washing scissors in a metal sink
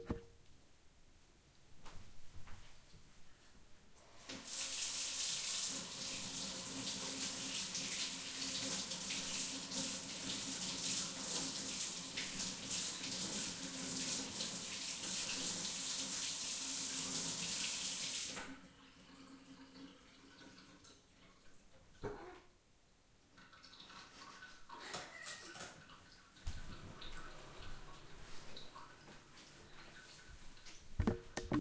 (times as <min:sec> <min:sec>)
0:04.3 0:18.5